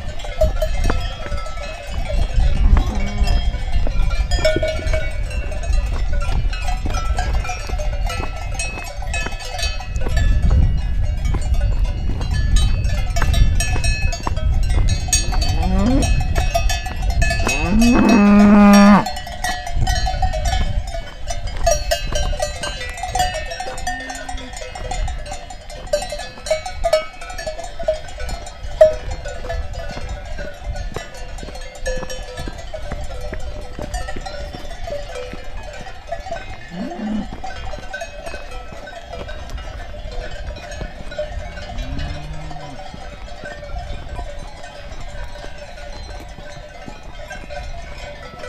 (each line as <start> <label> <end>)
0.0 Hiking 48.4